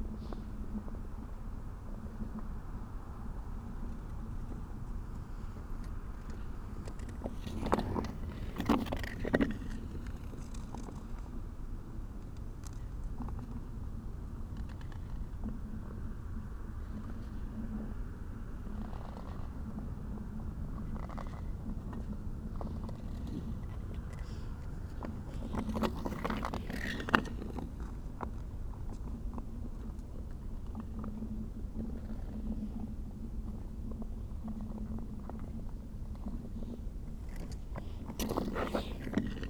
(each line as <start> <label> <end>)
4.8 Ice skater on frozen lake 11.4
20.8 Ice skater on frozen lake 31.1
34.6 Ice skater on frozen lake 39.4